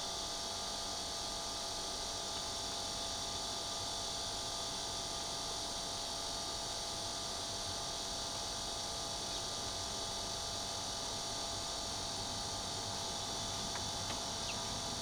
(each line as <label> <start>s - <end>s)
A/C outdoor unit 0.0s - 15.0s
Cicada 7.7s - 15.0s